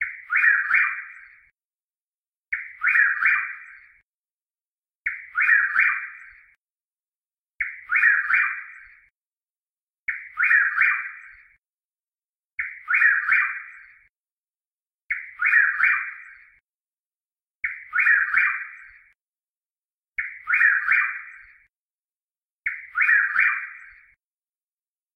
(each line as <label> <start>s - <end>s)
Birdsong of the Chuck-will's-widow 0.0s - 1.5s
Birdsong of the Chuck-will's-widow 2.5s - 4.1s
Birdsong of the Chuck-will's-widow 5.0s - 6.6s
Birdsong of the Chuck-will's-widow 7.6s - 9.1s
Birdsong of the Chuck-will's-widow 10.0s - 11.6s
Birdsong of the Chuck-will's-widow 12.6s - 14.1s
Birdsong of the Chuck-will's-widow 15.1s - 16.6s
Birdsong of the Chuck-will's-widow 17.6s - 19.2s
Birdsong of the Chuck-will's-widow 20.2s - 21.7s
Birdsong of the Chuck-will's-widow 22.6s - 24.2s